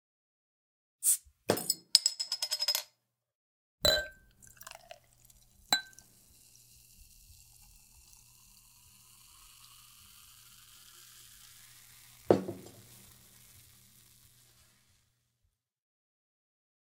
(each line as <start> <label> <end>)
3.9 clink 4.2
3.9 pouring into a glass 14.8
4.3 fizz 15.2
5.8 clink 6.0
12.0 Opening a bottle 13.3